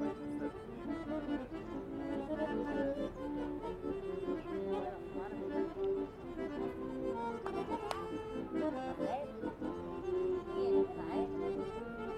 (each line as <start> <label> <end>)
0.0 accordion player 12.1
0.0 tourists 12.1
2.4 women playing with their children 12.1